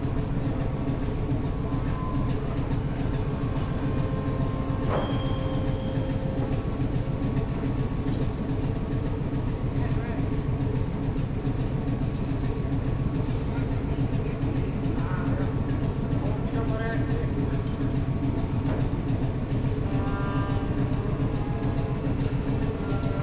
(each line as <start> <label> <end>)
0.0 whining noise 8.6
0.0 3-cylinder ABC diesel engine 23.2